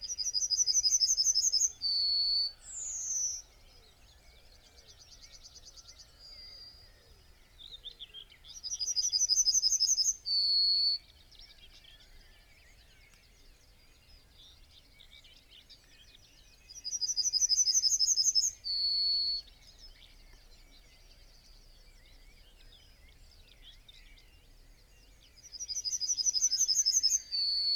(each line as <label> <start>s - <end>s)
blackbird 0.0s - 27.7s
song thrush 0.0s - 27.7s
yellowhammer song and call 0.0s - 27.7s